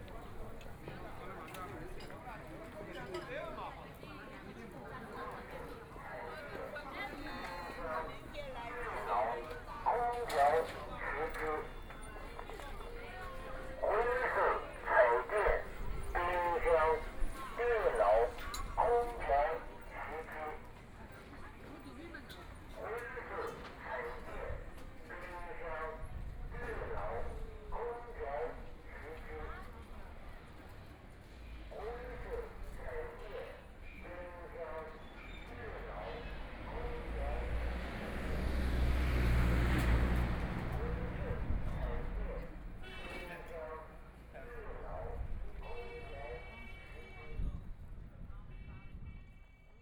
Walking in the street market 0:00.0 - 0:49.8

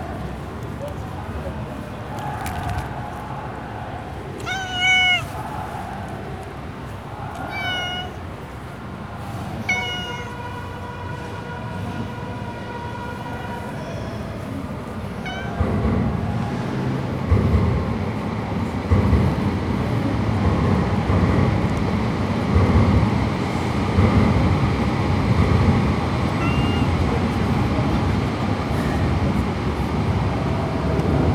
tram rattles on a bridge above 0:00.0 - 0:31.3
stray cat 0:04.3 - 0:11.0
stray cat 0:15.0 - 0:16.1
stray cat 0:26.2 - 0:27.1

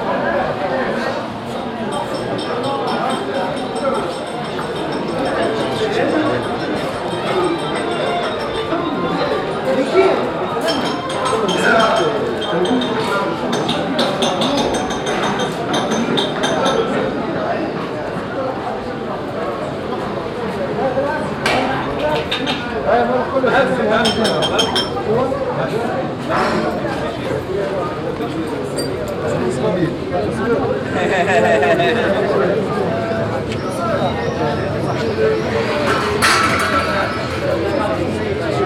music coming from the shops 0:00.0 - 0:17.3

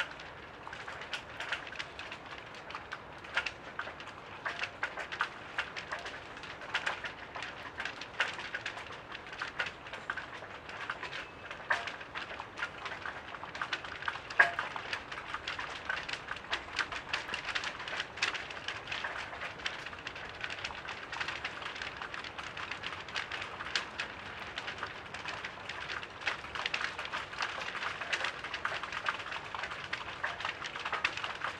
Flapping flags on the wind 0:00.0 - 0:31.5

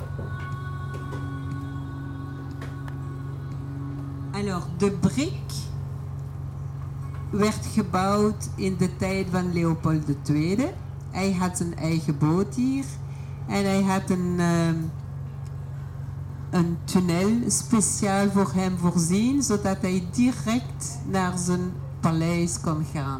Waterbus on the canal 0:00.0 - 0:23.1

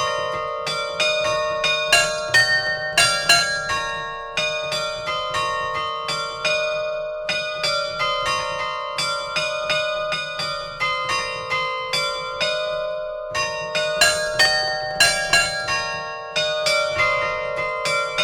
Carillon de l'église 0:01.9 - 0:04.8

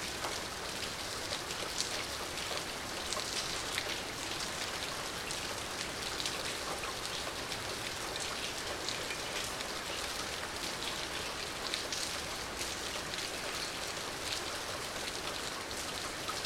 Lonely rain 0:00.0 - 0:16.4

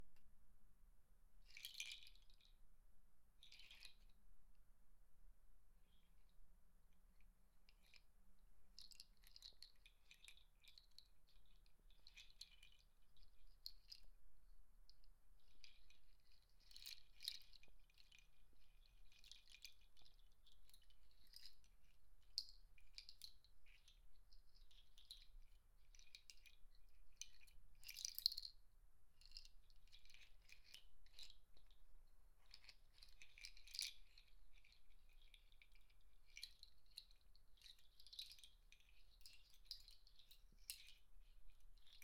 Playing with a rain nut bracelet 0:01.4 - 0:02.6
Playing with a rain nut bracelet 0:03.4 - 0:04.2
Playing with a rain nut bracelet 0:08.7 - 0:14.2
Playing with a rain nut bracelet 0:15.4 - 0:42.0

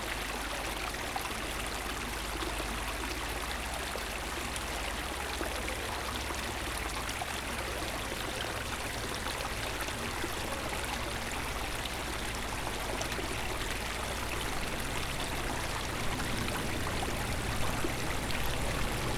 sellscheider creek flows into the eschbach creek 0:00.0 - 0:19.1

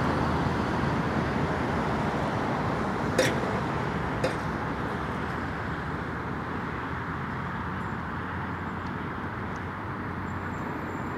Pulse of traffic 0:00.0 - 0:11.1
clang of gate 0:03.2 - 0:03.4

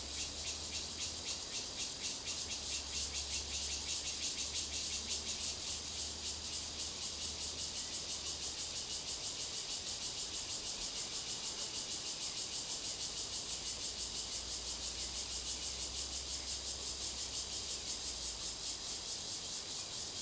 Cicadas cry 0:00.0 - 0:20.2

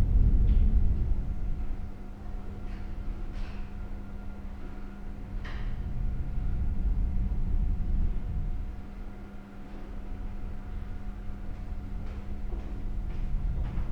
wind was wailing through it 0:00.0 - 0:09.2

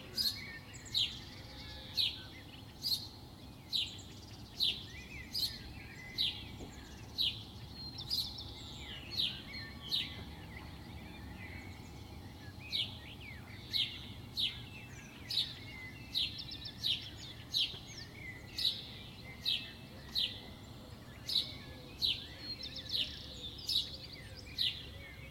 birds singing 0:00.0 - 0:25.3

